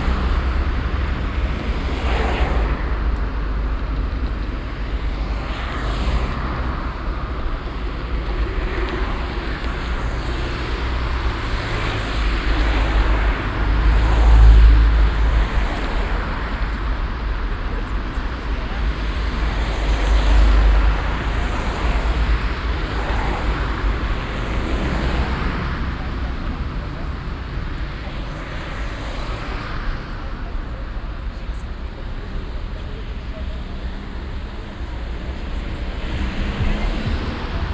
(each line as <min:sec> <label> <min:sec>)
0:00.0 strassen- und bahnverkehr 0:37.7